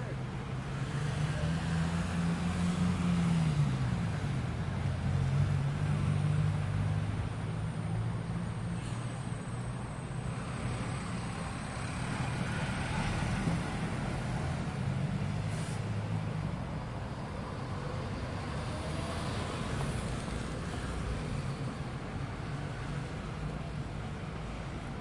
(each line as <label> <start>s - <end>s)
Street City Traffic 0.0s - 25.0s